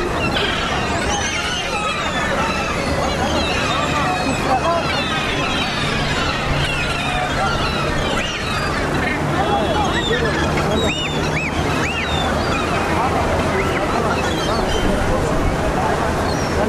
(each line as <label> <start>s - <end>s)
seagulls being fed 0.0s - 16.6s